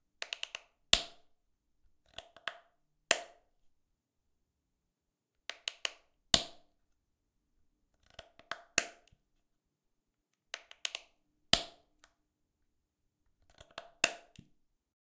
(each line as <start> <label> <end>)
7.9 Open and closing a plastic bottle with a clicking lid 9.2
13.3 Open and closing a plastic bottle with a clicking lid 14.6